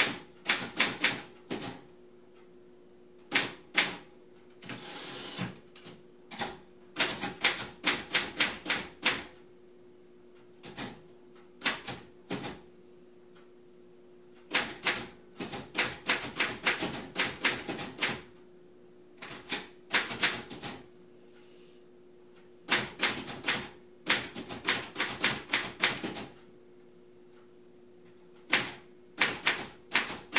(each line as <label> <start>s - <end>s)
secretary typing on 1940s mechanical typewriter 0.0s - 1.8s
secretary typing on 1940s mechanical typewriter 7.0s - 9.3s
secretary typing on 1940s mechanical typewriter 10.6s - 11.0s
secretary typing on 1940s mechanical typewriter 11.6s - 12.6s
secretary typing on 1940s mechanical typewriter 14.5s - 18.3s
secretary typing on 1940s mechanical typewriter 19.2s - 20.8s
secretary typing on 1940s mechanical typewriter 22.7s - 26.4s
secretary typing on 1940s mechanical typewriter 28.4s - 30.3s